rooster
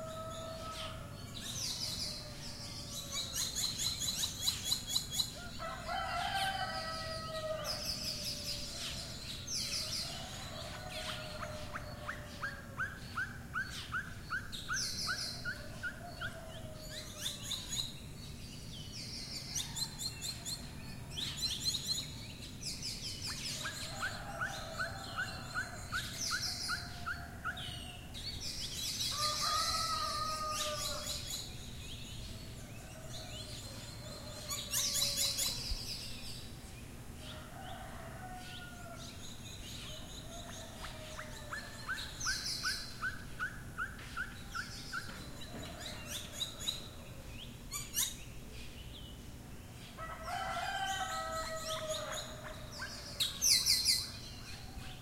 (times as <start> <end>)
0.0 1.3, 5.3 9.1, 9.9 13.0, 23.5 28.0, 29.1 31.3, 32.8 35.8, 37.3 39.1, 40.0 42.4, 50.0 55.0